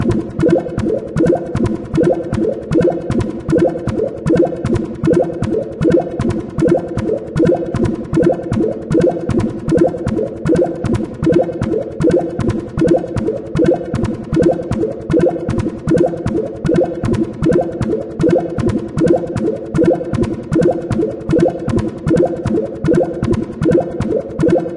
repetitive synthloop 0:00.0 - 0:24.7

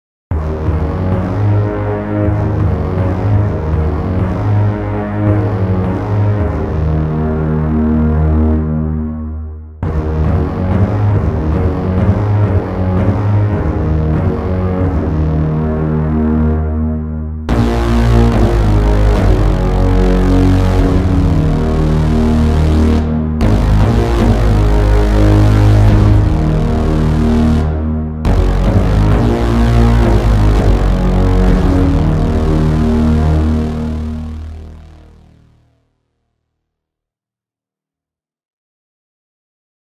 brass sounds 0:00.3 - 0:35.5
Electronic sound 0:17.5 - 0:35.1

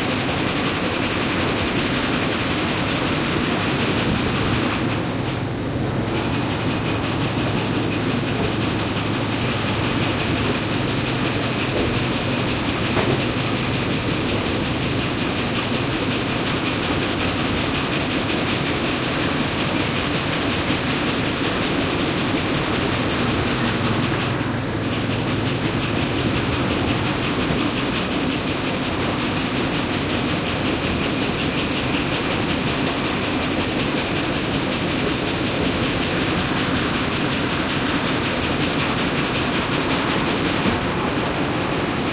noises of the saw mill in the bg 0:00.0 - 0:42.1

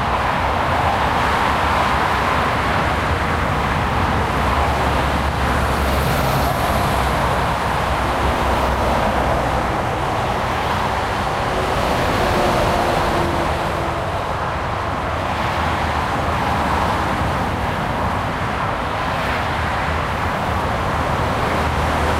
busy highway 0:00.0 - 0:22.1

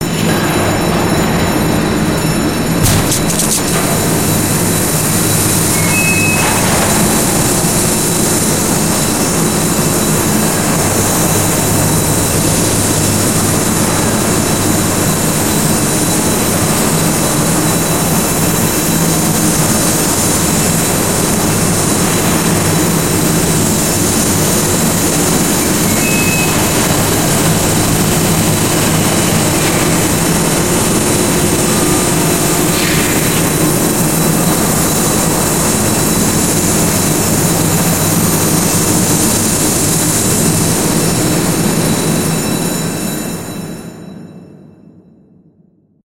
alarm bell 0:00.0 - 0:45.5

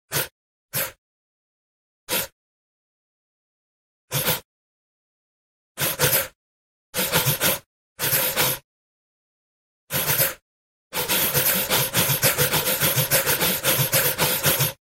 gasping breath sounds in a rhythmic pattern 0:00.1 - 0:01.0
gasping breath sounds in a rhythmic pattern 0:02.1 - 0:02.4
gasping breath sounds in a rhythmic pattern 0:04.1 - 0:04.5
gasping breath sounds in a rhythmic pattern 0:05.8 - 0:08.7
gasping breath sounds in a rhythmic pattern 0:09.9 - 0:14.8

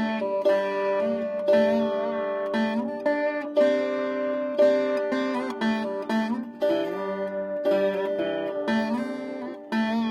student playing a veena 0:00.0 - 0:10.1

